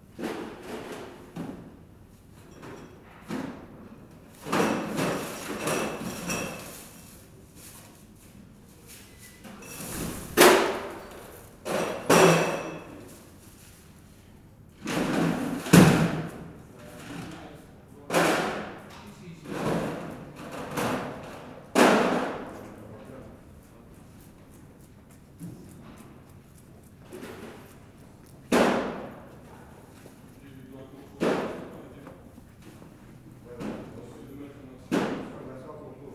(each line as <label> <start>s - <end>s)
Delivery men unload beers and beers and beers 4.4s - 8.0s
Delivery men unload beers and beers and beers 25.5s - 35.4s